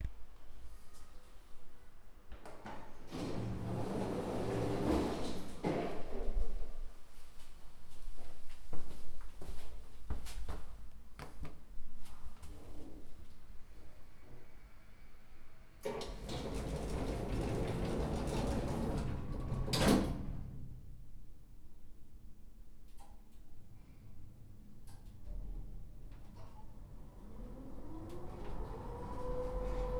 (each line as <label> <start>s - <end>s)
doors opening and closing 2.6s - 6.2s
elvator noises as it goes up and down 15.8s - 20.4s
doors opening and closing 15.8s - 20.7s
doors opening and closing 25.0s - 29.9s
elvator noises as it goes up and down 25.4s - 29.9s